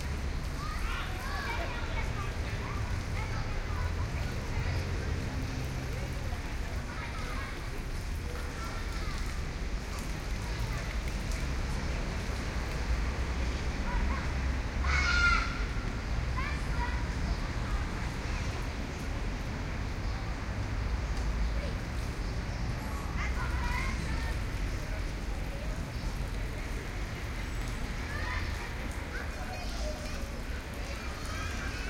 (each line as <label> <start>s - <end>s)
Cars passing by 0.0s - 31.8s
distant water fall 0.0s - 31.8s
voices 0.0s - 31.8s
kids playing 0.4s - 11.5s
kids playing 13.7s - 18.8s
kids playing 22.6s - 26.0s
kids playing 26.6s - 31.8s